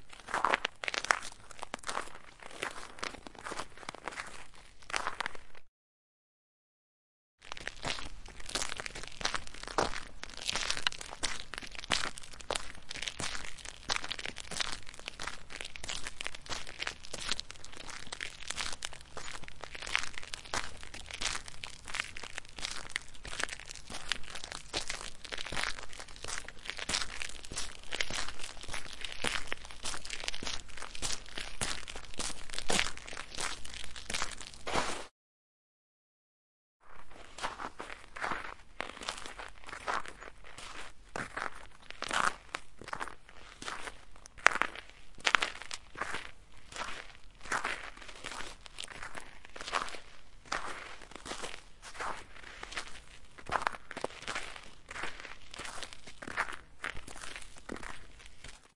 walking on the icy asphalt road 0.0 - 5.7
walking on the icy asphalt road 7.4 - 35.1
walking on the icy asphalt road 36.8 - 58.7

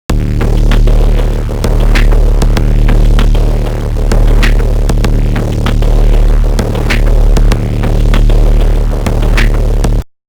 bass 0.0 - 10.2
percussion 0.1 - 10.0

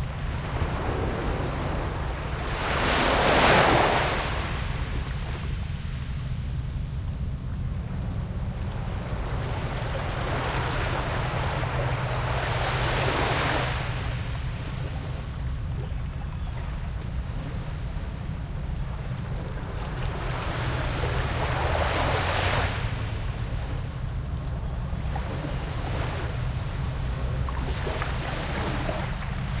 boats on the water 0.0 - 29.6
waves 0.0 - 29.6

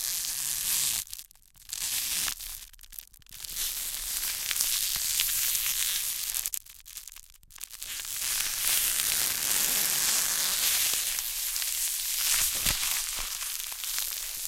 Cellophane manipulated 0.8 - 14.4

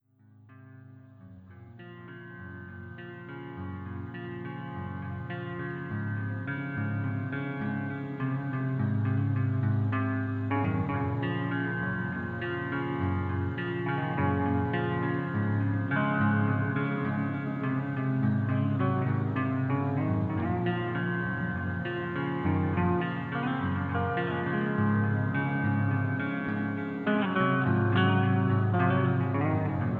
guitar 0.0 - 29.9

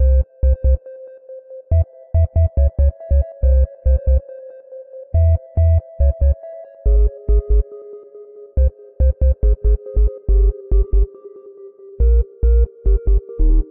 sinewave bass 0.0 - 0.9
sinewave plings with some delay 0.0 - 1.0
sinewave bass 1.7 - 4.2
sinewave bass 5.2 - 7.7
sinewave bass 8.6 - 11.1
sinewave bass 12.0 - 13.7

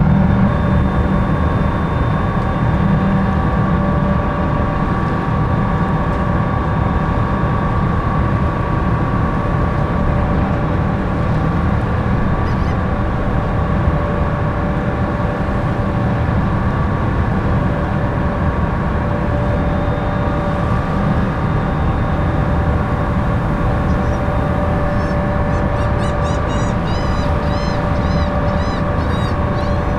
waves 0.0 - 29.9
wind 0.0 - 29.9
seagulls 12.4 - 13.0
passengers 22.1 - 29.9
seagulls 23.6 - 29.9

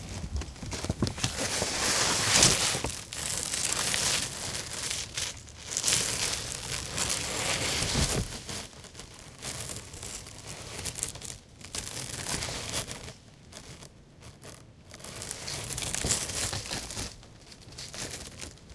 plastic car tent shelter flap 0.0 - 8.8
plastic scraping ice 0.0 - 18.7

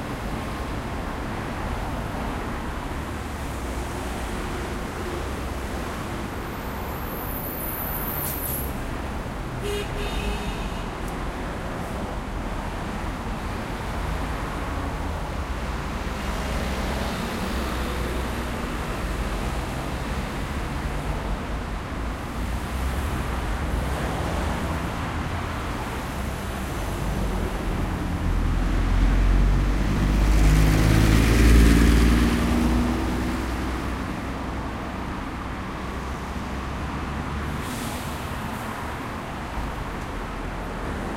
Intense traffic 0.0 - 41.1

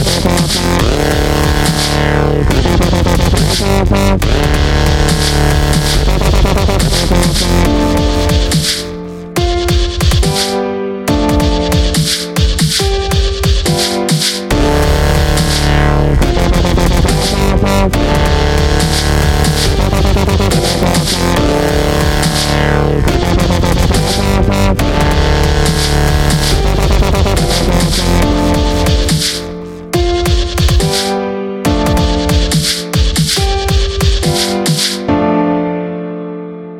Dubstep-Piano 0.0 - 36.7

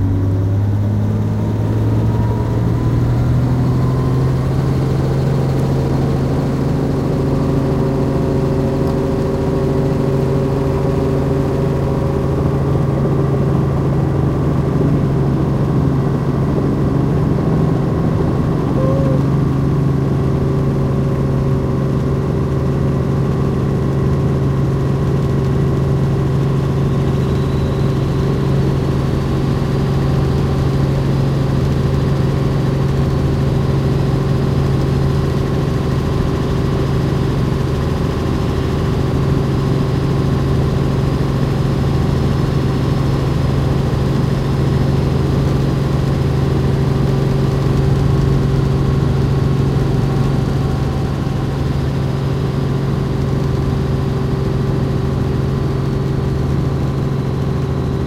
Flight in a helicopter 0.0 - 58.0

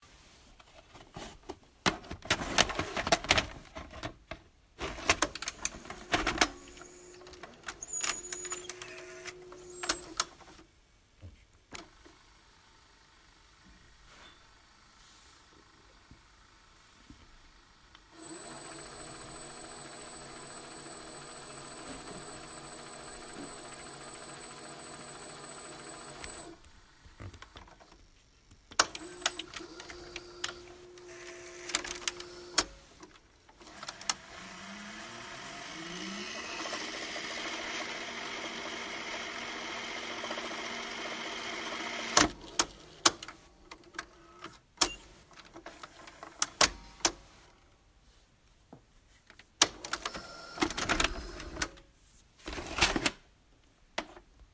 Loading a cassette to a vintage vcr (VHS) recorder 1.9 - 10.6
Loading a cassette to a vintage vcr (VHS) recorder 18.0 - 26.6
Loading a cassette to a vintage vcr (VHS) recorder 28.7 - 34.4
Loading a cassette to a vintage vcr (VHS) recorder 35.6 - 47.2
Loading a cassette to a vintage vcr (VHS) recorder 49.6 - 51.8

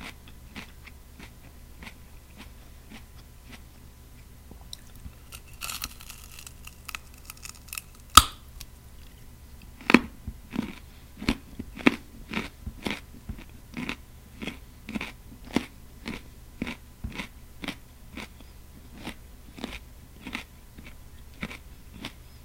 eats a delicious, sweet and crisp carrot 4.6 - 22.3
bite off a piece of carrot 4.7 - 8.7

